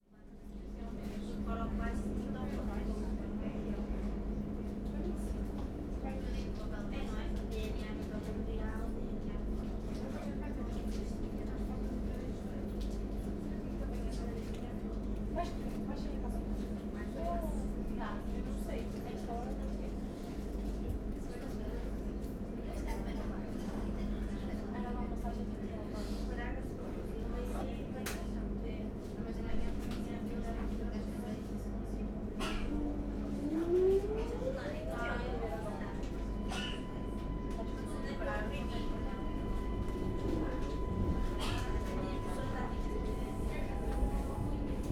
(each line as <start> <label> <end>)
32.7 train departing 44.9